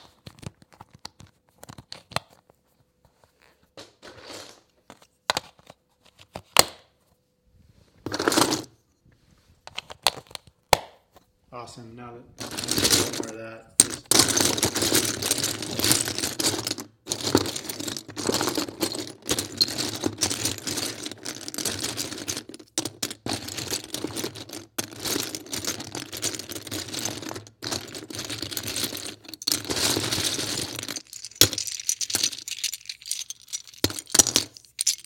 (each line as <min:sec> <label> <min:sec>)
0:12.4 Lego bricks clicking together 0:35.0